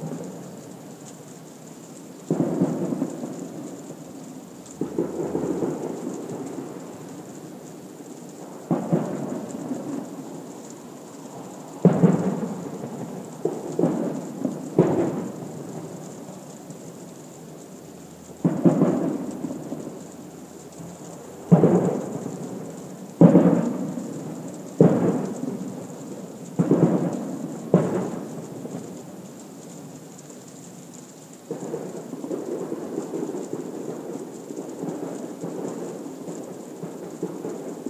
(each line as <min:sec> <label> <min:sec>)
0:00.0 rain falling softly 0:37.8
0:02.3 fireworks booms 0:03.7
0:04.8 fireworks booms 0:07.5
0:08.4 fireworks booms 0:10.1
0:11.8 fireworks booms 0:16.1
0:18.4 fireworks booms 0:20.3
0:21.4 fireworks booms 0:29.0